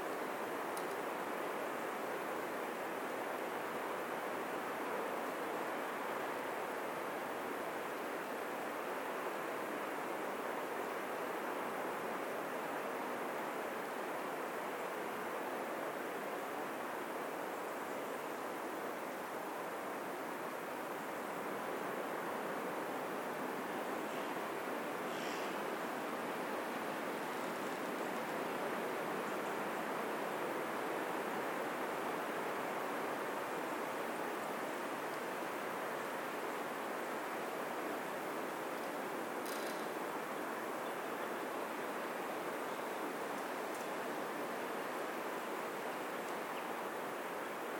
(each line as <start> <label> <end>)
38.8 Trees creaking 40.0